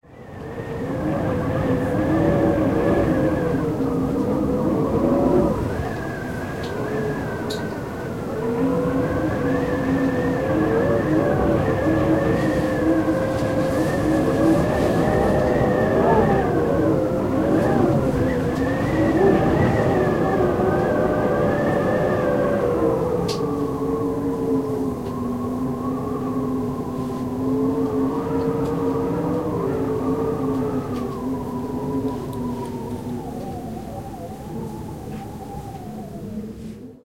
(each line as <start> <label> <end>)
0.0 Wind Whistling Window Frame 37.0